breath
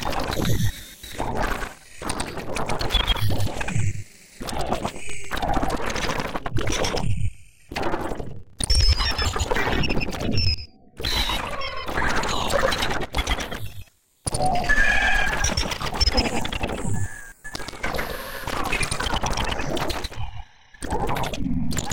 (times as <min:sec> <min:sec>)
0:17.8 0:18.6